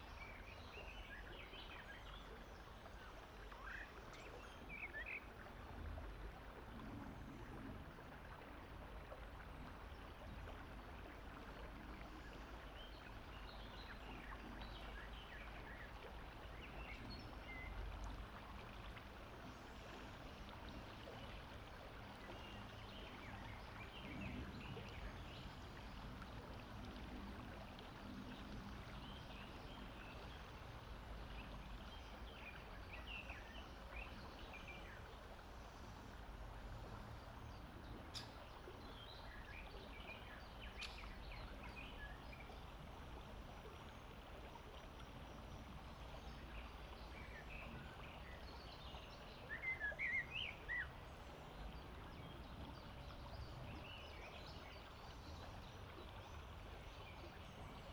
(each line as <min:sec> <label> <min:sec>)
0:00.0 soft murmur of the river 0:57.9
0:37.5 numerous birds singing and calling 0:42.6
0:46.2 numerous birds singing and calling 0:50.9